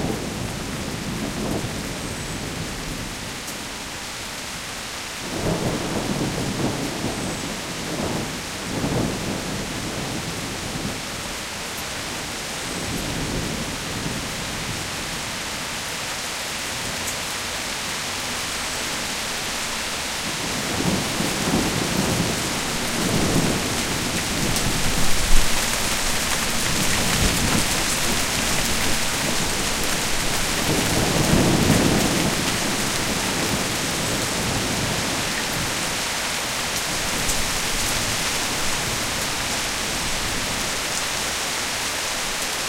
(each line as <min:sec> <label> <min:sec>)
0:00.0 thunderstorm 0:03.3
0:05.2 thunderstorm 0:11.4
0:19.0 thunderstorm 0:40.8